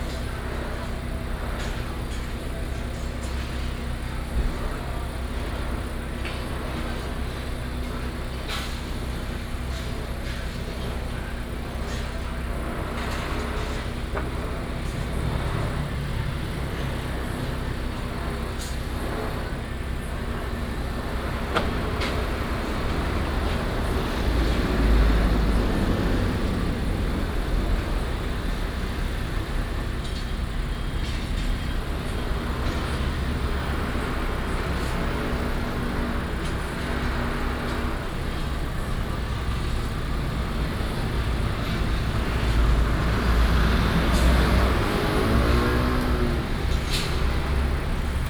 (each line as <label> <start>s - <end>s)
Construction site sound 0.0s - 48.2s
Traffic sound 0.0s - 48.2s